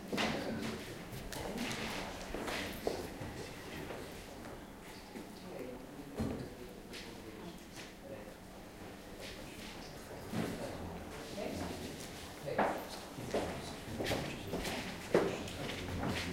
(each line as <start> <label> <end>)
9.2 steps 16.3